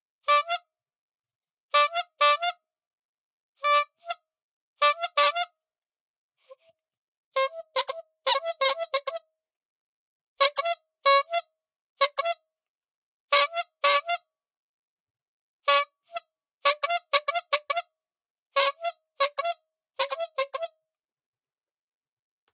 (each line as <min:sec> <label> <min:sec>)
0:01.7 Small squeeze bulb horn 0:02.6
0:04.8 Small squeeze bulb horn 0:05.6
0:07.4 Small squeeze bulb horn 0:09.2
0:10.4 Small squeeze bulb horn 0:12.4
0:13.3 Small squeeze bulb horn 0:14.3
0:15.7 Small squeeze bulb horn 0:17.9
0:18.6 Small squeeze bulb horn 0:20.8